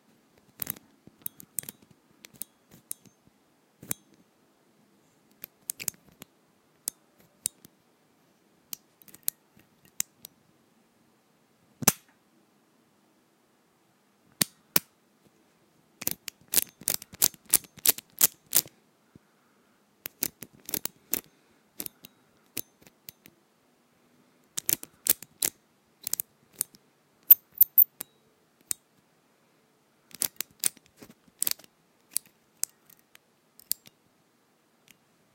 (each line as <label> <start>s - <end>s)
lock open 27.3s - 28.0s
lock close 27.3s - 28.1s